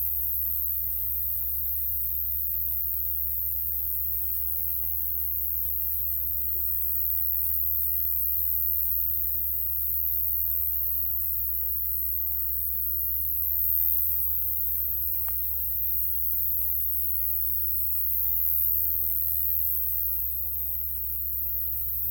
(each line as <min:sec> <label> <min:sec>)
0:00.0 Insects at night 0:22.1